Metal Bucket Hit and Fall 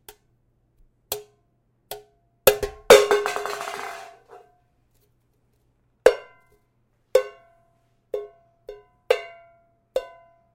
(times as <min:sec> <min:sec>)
0:02.6 0:04.4